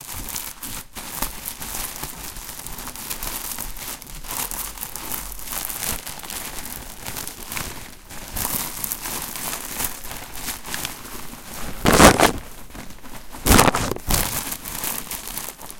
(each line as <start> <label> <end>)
0.0 plastic bag 15.7